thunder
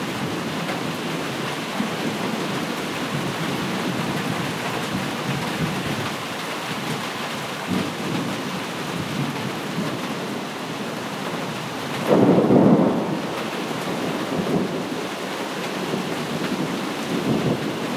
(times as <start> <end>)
12.0 14.9